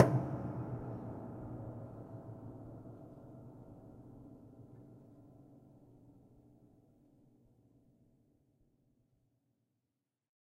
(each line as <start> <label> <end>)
0.0 hits on the piano with sustain pedal 0.6